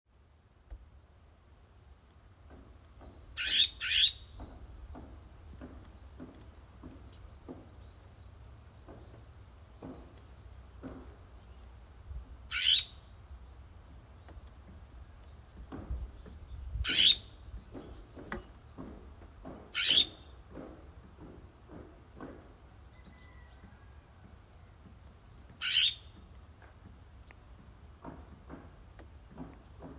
hammering 8.8 - 11.6
hammering 17.5 - 23.4
hammering 27.6 - 29.9

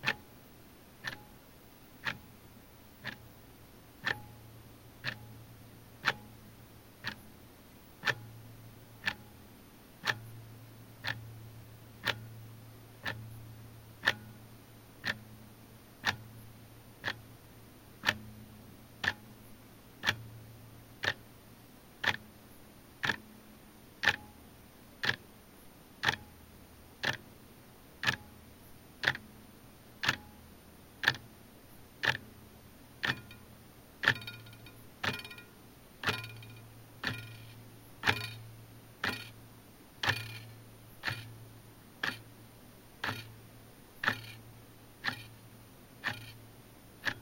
more pronounced mechanical ticks 0.0 - 47.2
occasional second hand vibration 32.0 - 47.2

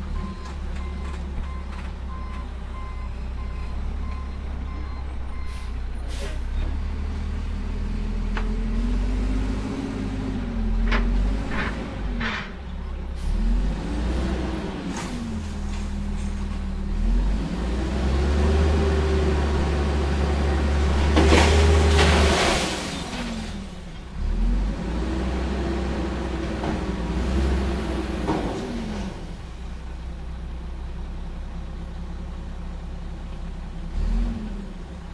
garbage track that often comes by to pick up trash 0.0 - 35.1

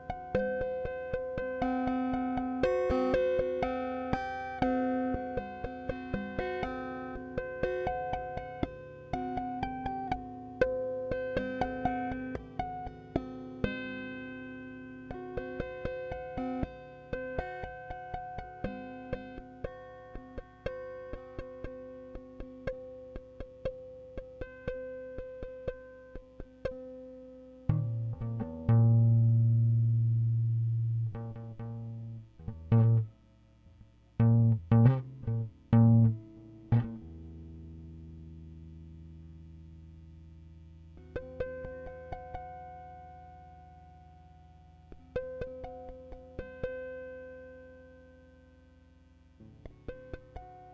Guitar tapping 0.0 - 13.9
Guitar tapping 15.1 - 33.1
Guitar tapping 33.8 - 37.6
Guitar tapping 41.0 - 42.9
Guitar tapping 44.9 - 47.0
Guitar tapping 49.4 - 50.7

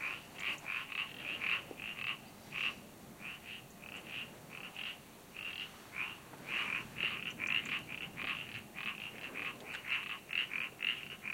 birds 0.0 - 11.3
frogs calling 0.0 - 11.3

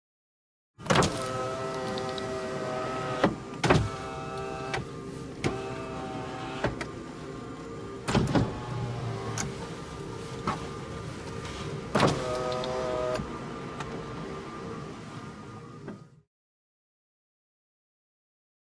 electric car POWER WINDOWS 0.8 - 16.2

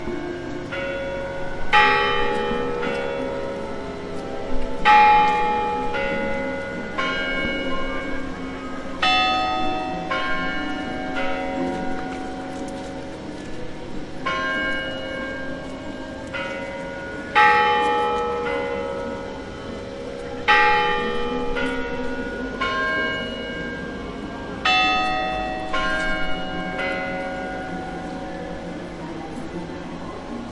clock tower bells 0.0 - 30.5

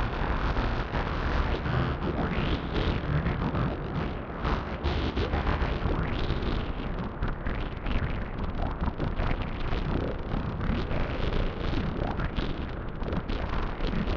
buzzing bass sound 0.0 - 14.1

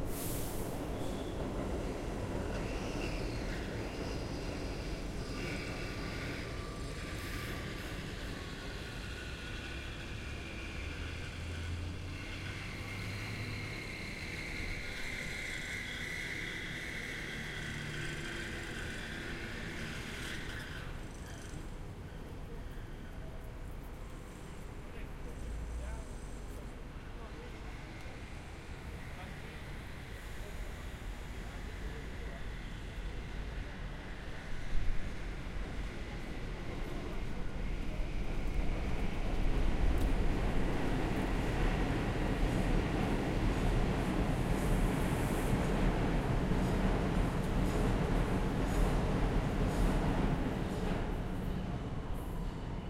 subway sounds from street grate 0.0 - 52.8
traffic 0.0 - 52.8

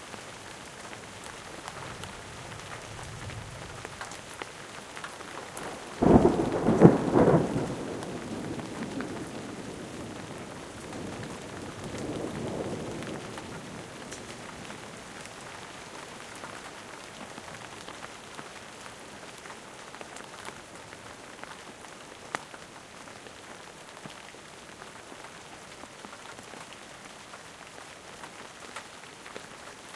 rain 0.0 - 29.9
hail 1.0 - 18.8
thunder 5.7 - 13.9

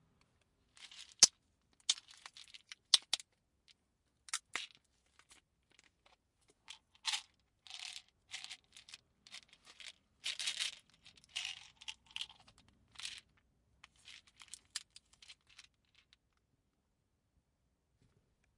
Removing pills from container 0.8 - 3.3
Removing pills from container 4.3 - 16.2

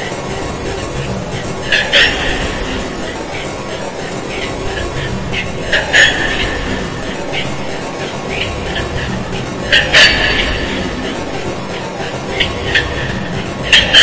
vocal like cackling demonic chant 0.0 - 14.0

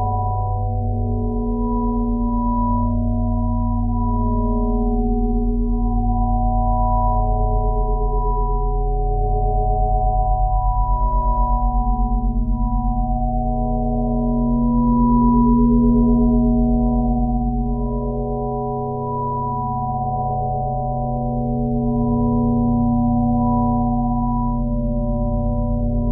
pure ambient sine wave 0.0 - 26.1

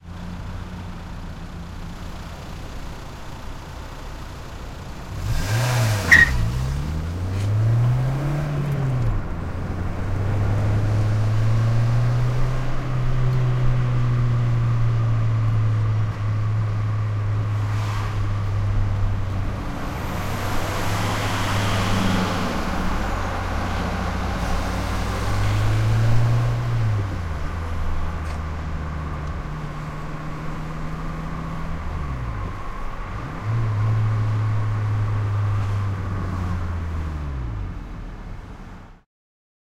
other cars passing by 0.0 - 39.0
tires squeak 5.2 - 7.6
car interior open window accelerating aggressively 17.6 - 27.9

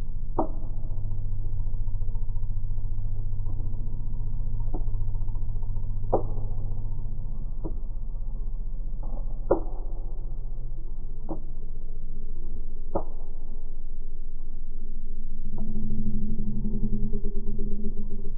Drone sounds 14.7 - 18.3
moan 15.5 - 18.3

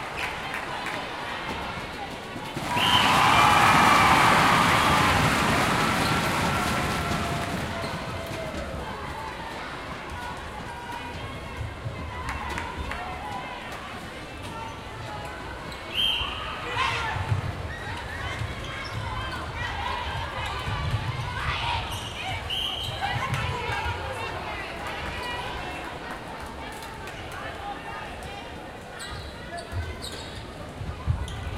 international netball game 0.0 - 31.5
cheering 2.4 - 14.0

